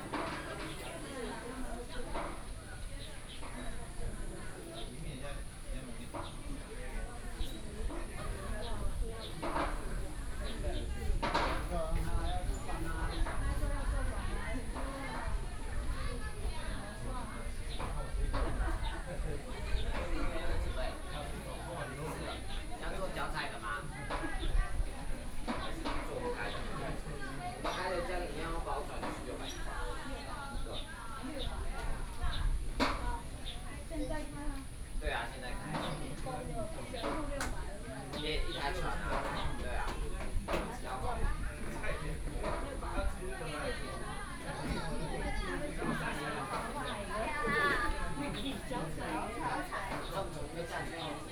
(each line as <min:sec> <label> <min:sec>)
0:00.0 Tourists 0:51.3
0:00.1 Birdsong 0:13.8
0:35.5 Birdsong 0:37.3